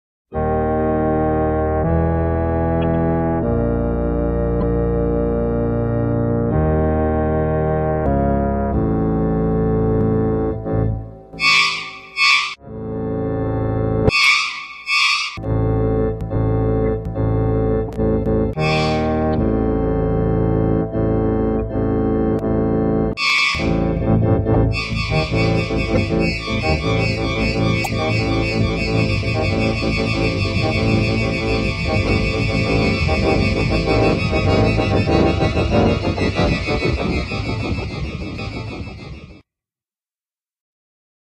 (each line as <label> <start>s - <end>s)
Organ Music 0.3s - 39.4s